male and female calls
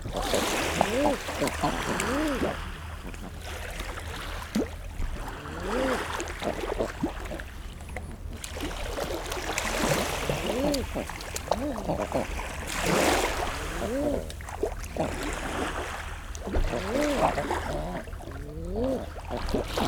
0.2s 3.2s, 10.0s 14.4s, 16.5s 19.2s

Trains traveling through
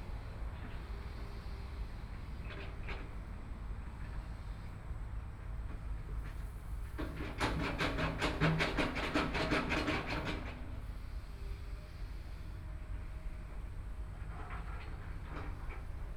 7.6s 16.1s

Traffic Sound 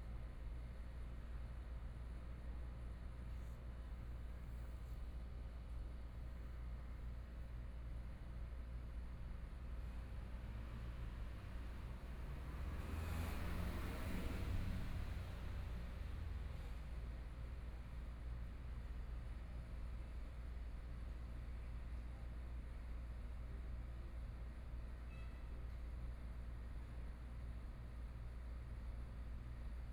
10.7s 16.6s

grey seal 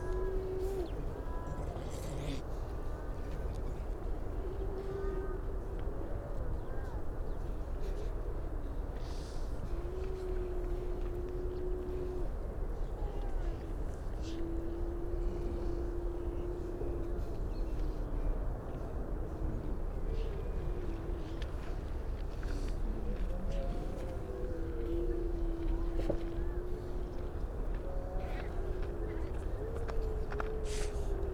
0.0s 2.9s, 19.4s 31.3s

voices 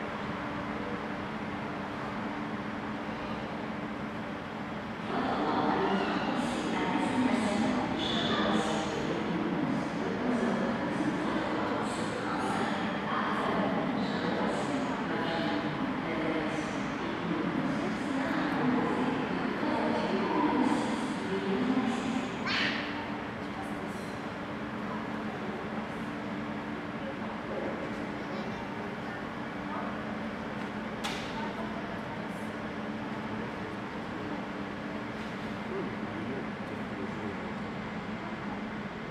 5.1s 30.2s

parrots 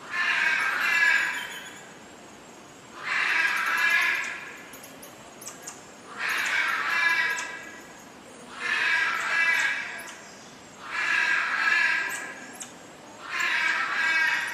0.0s 1.9s, 3.0s 4.6s, 5.4s 7.8s, 8.5s 10.2s, 10.8s 14.5s

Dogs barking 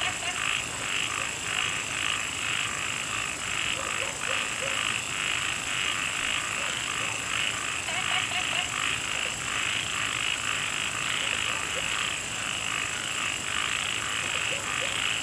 0.0s 1.4s, 3.7s 5.0s, 6.5s 7.3s, 11.1s 12.2s, 14.2s 15.2s

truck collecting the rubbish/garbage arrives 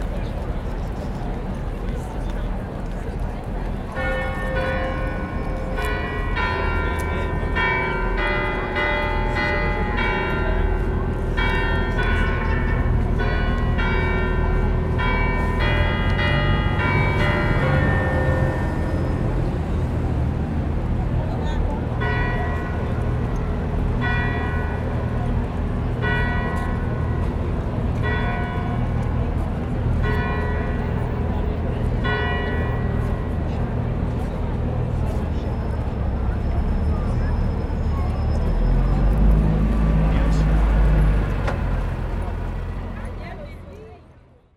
34.8s 43.2s

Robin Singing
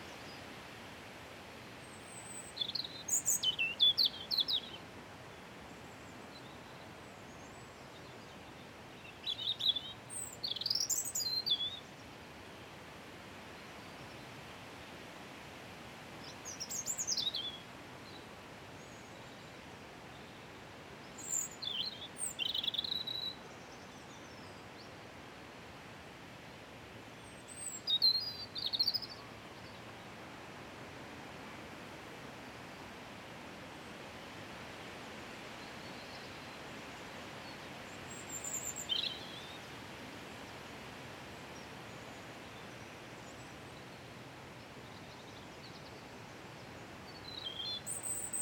2.0s 4.8s, 8.5s 11.9s, 16.2s 17.6s, 21.1s 24.5s, 27.3s 29.8s, 37.4s 39.7s, 47.1s 48.4s

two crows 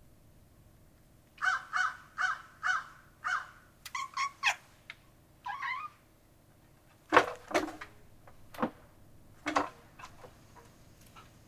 1.4s 4.6s

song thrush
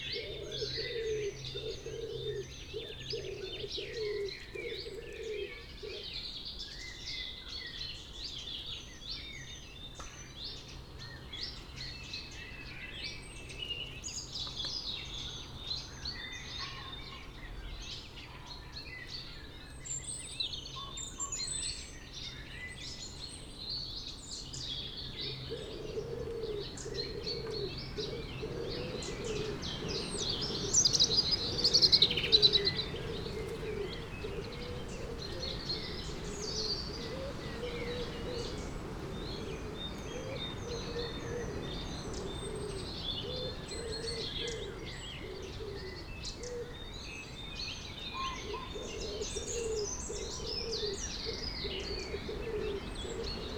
19.0s 53.5s

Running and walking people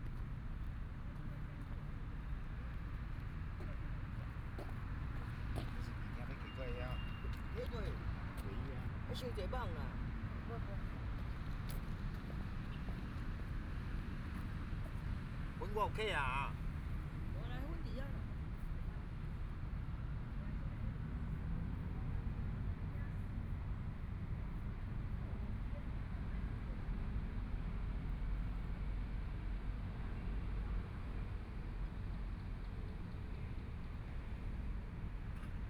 2.8s 8.6s

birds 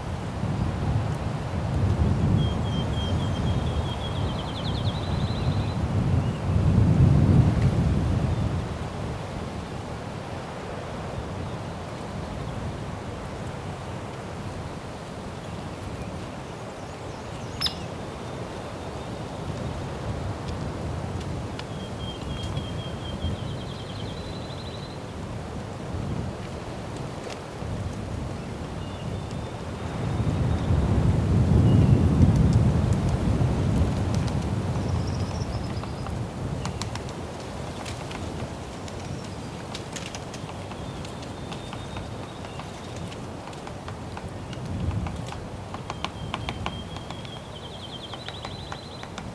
14.7s 19.8s, 34.8s 49.3s

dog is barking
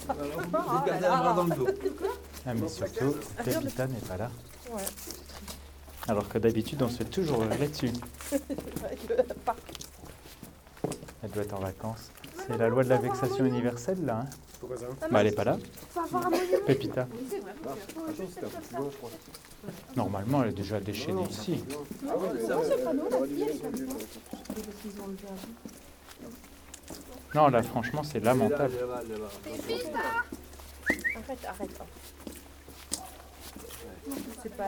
32.9s 33.8s

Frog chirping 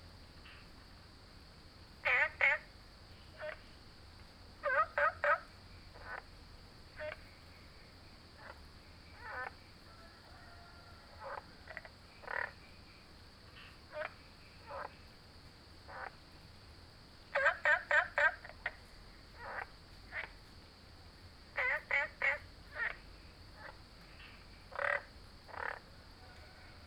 2.0s 2.7s, 3.3s 3.7s, 4.6s 6.3s, 7.0s 7.4s, 8.4s 9.7s, 11.1s 12.7s, 13.5s 15.0s, 15.9s 16.2s, 17.3s 20.4s, 21.6s 26.6s

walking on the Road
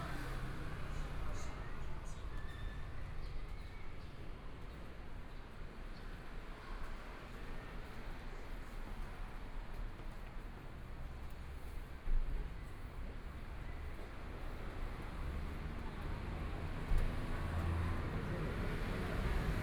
8.6s 19.6s

